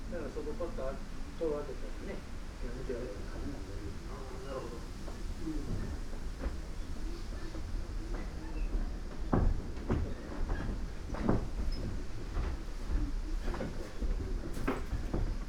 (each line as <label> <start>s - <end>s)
wind 0.0s - 15.4s